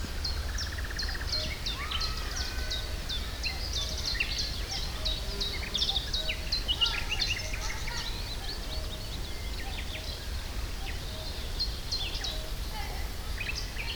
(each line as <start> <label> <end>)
1.5 children playing 3.8
6.6 children playing 8.7